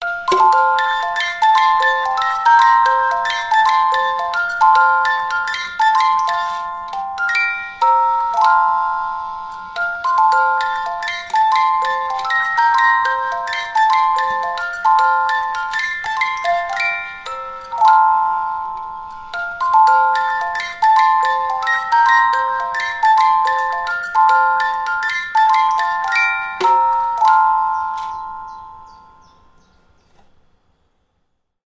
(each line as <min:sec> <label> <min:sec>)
0:00.0 pozytywka music box 0:29.6